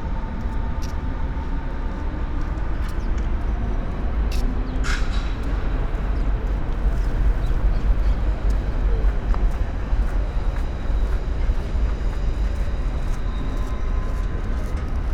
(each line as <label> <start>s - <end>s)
construction works 0.0s - 15.1s